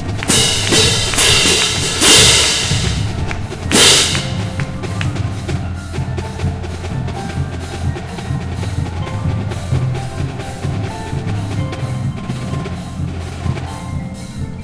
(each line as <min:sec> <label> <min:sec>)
0:00.0 cymbals 0:14.6
0:00.0 xylophones 0:14.6